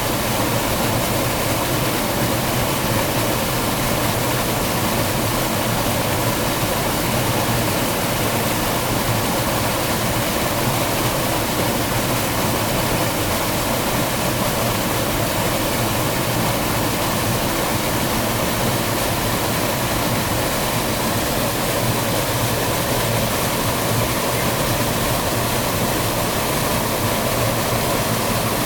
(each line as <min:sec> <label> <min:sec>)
0:00.0 small waterfall 0:28.6